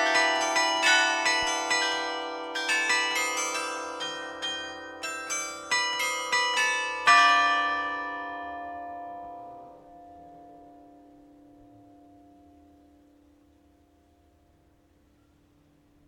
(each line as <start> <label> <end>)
0.0 Carillon de l'Hôtel de ville 16.0